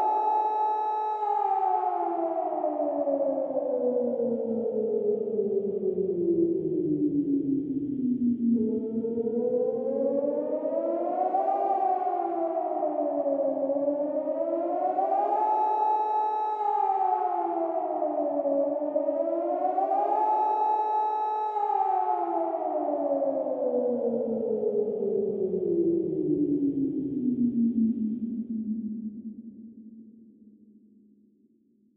14.2s Nuclear alarm 23.0s

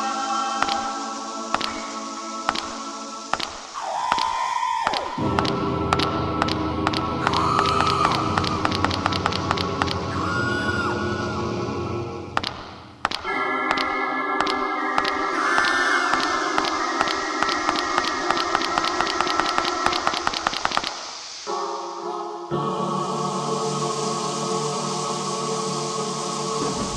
0.0s screams 12.3s
0.0s spooky music 20.4s
13.2s screams 21.2s
21.5s spooky music 26.9s

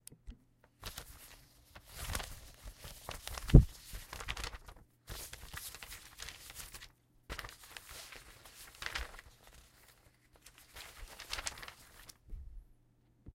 0.8s shuffling papers 12.4s

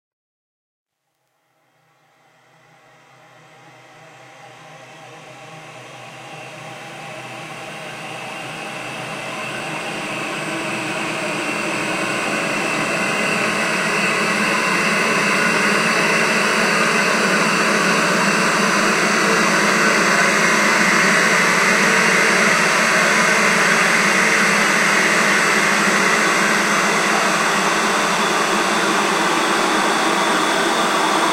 1.7s Drone 31.3s

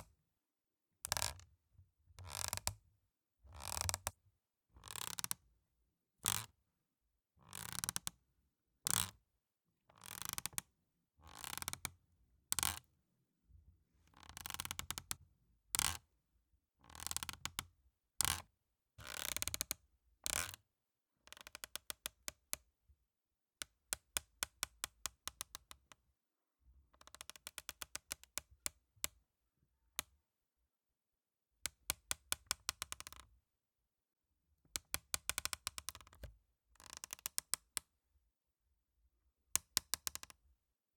1.1s Plastic Creak 1.4s
7.5s Plastic Creak 8.1s
12.5s Plastic Creak 12.9s

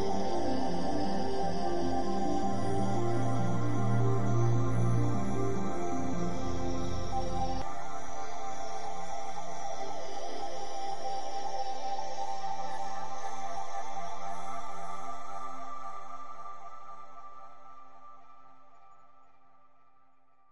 0.0s ambient background music fragment 19.2s

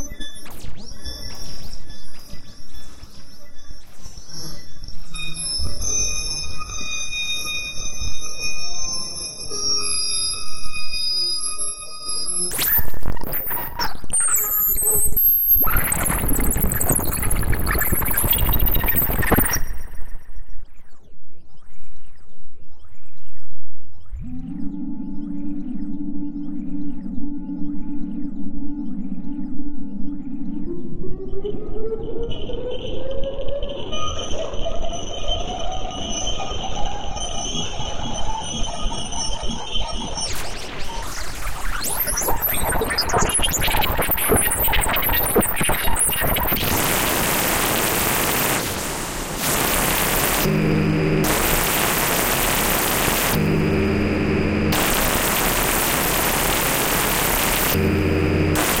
11.3s Crackle 20.4s
11.4s Glitch 20.3s
12.4s Static 20.0s
37.6s Glitch 58.8s
38.6s Crackle 58.8s
40.2s Static 58.8s
41.8s Beeping 58.8s

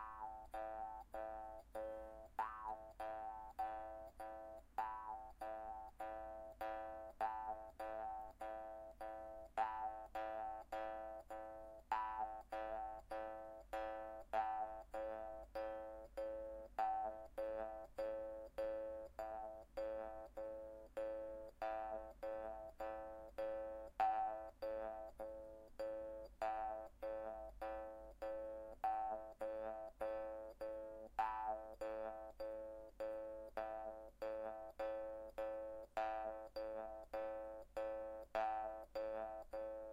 0.0s rythm on a jaw harp 39.9s

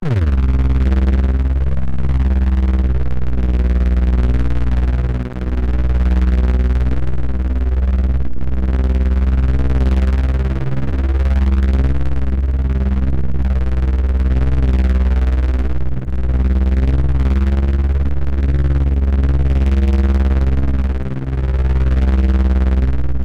0.0s Synth - Helicopter 23.2s

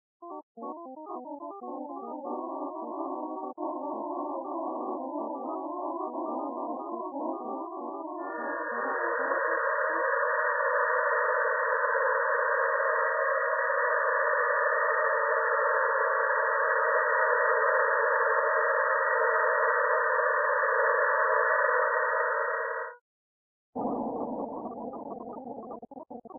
1.6s clouds of sound using only sinusoids 23.0s

